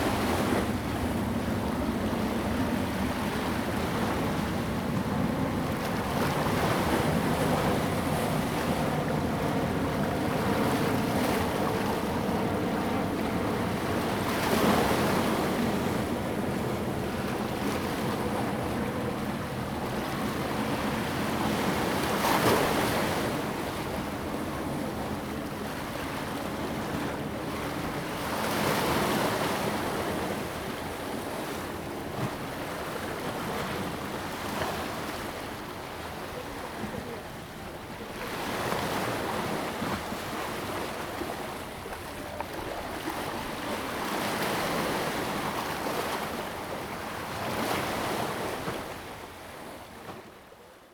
Waves lapping the pier 0.0 - 50.9

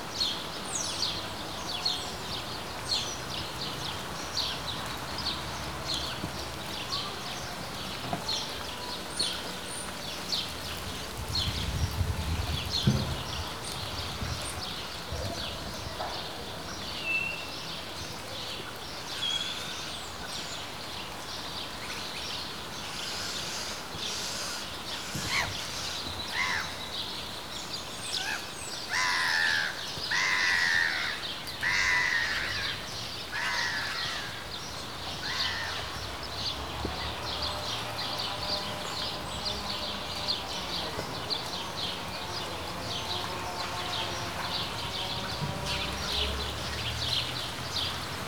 light rain 0.0 - 48.2

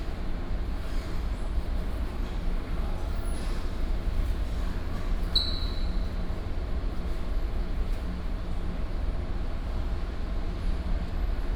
air conditioning 0.0 - 11.5

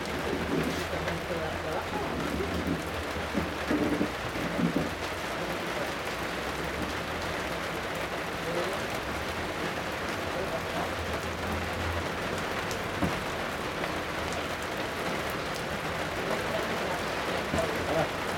Heavy rain 0.0 - 18.3
voices 10.3 - 11.6
voices 16.2 - 18.3

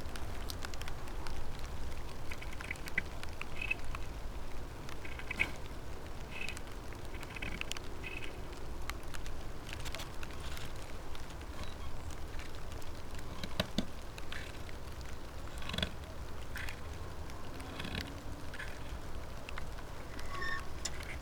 soft rain 0.0 - 21.2
wires 9.7 - 21.2

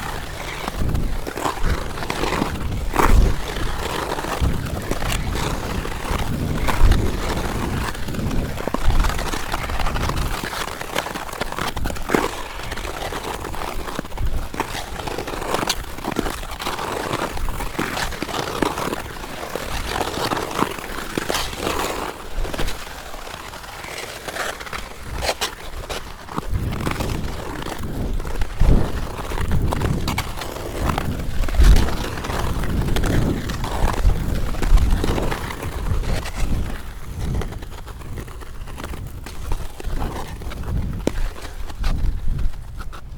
Ice skating 0.0 - 43.1

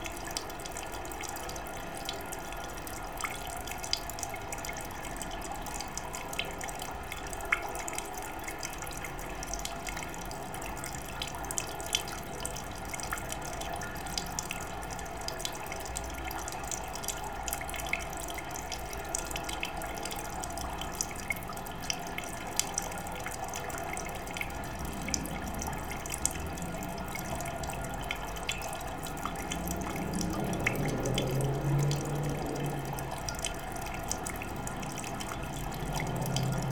hotel pool water system 0.0 - 36.7

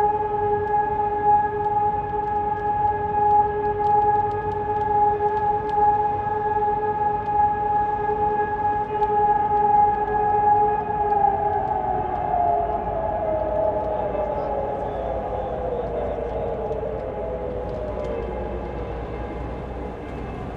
sirens testing 0.0 - 20.5
wind 0.0 - 20.5
churchbells 11.8 - 20.5
nearby train bridge 13.6 - 20.5

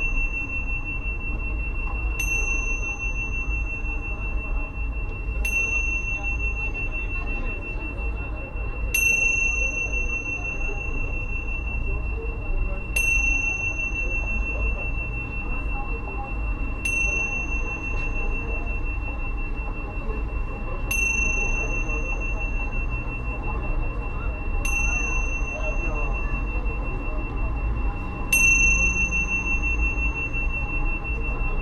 night flow of people 0.0 - 31.6

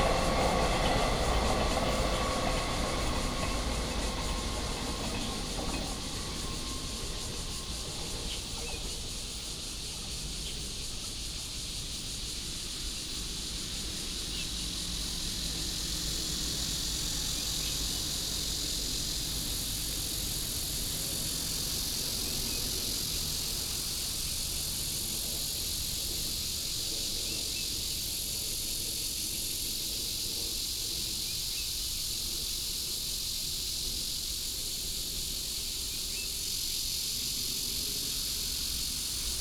Traffic sound 0.0 - 9.4
Cicada cry 0.0 - 39.4
train runs through 0.0 - 39.4

